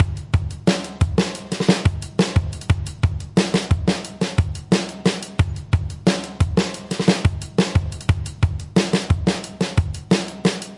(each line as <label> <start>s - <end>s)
Trashy drum kit 0.0s - 10.7s